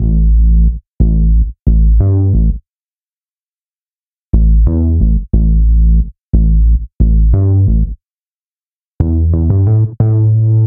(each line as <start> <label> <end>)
0.0 Winter Bass 6 2.6